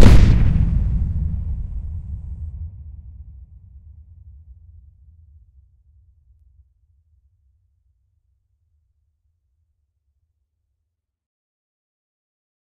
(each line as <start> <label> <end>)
0.0 explosion 3.3